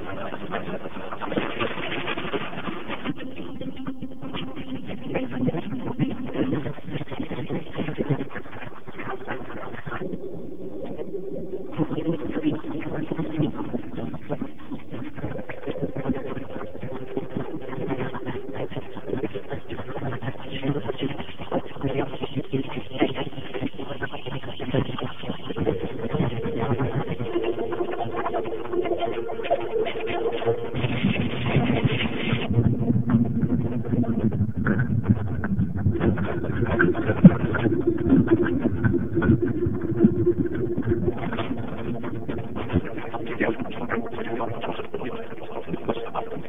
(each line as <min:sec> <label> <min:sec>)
0:00.0 garbled internet stream 0:46.4